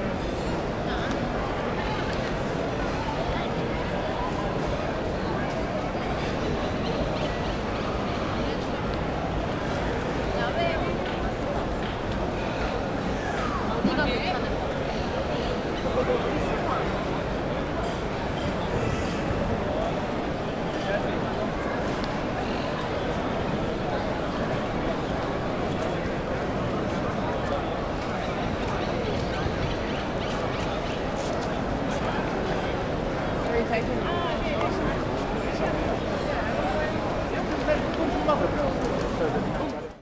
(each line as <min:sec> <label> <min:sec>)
0:00.0 CROWD WALLA Large Place 0:40.0